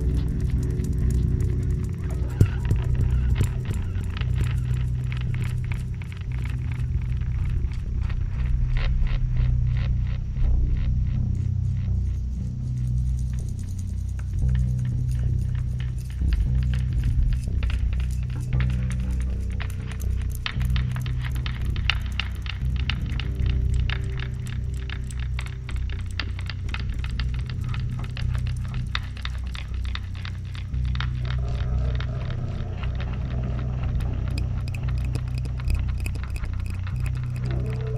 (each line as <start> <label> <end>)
0.0 Guitar 37.9
0.0 bass 37.9
0.0 drone 37.9
34.1 metall scratch 37.9